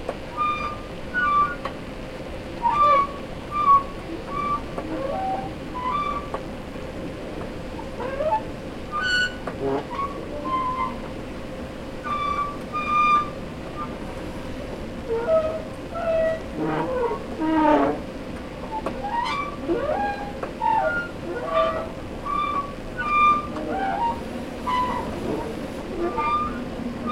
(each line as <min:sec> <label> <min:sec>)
0:18.6 Escelator noises 0:27.1